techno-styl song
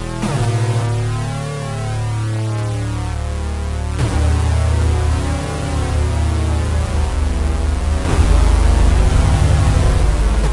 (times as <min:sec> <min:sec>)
0:04.0 0:10.5